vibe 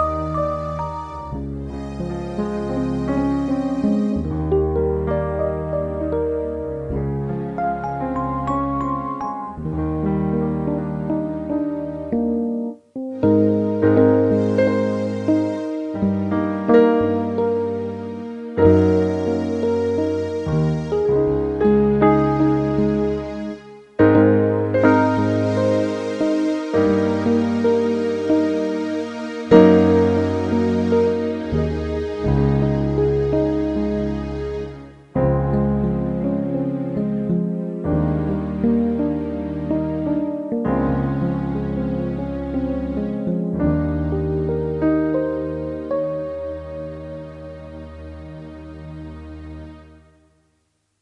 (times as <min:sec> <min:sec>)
0:00.0 0:12.4